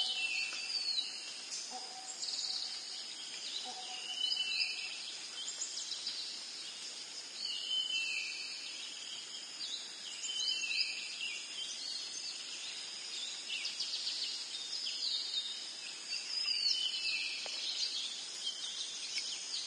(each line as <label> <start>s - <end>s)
birds echo 0.0s - 19.6s
crickets 0.0s - 19.6s